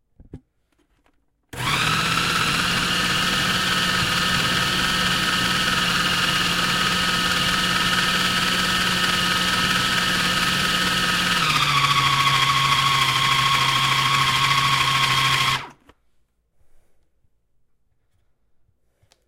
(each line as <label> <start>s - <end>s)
Chopping frozen blueberries with food processor on high 1.6s - 15.8s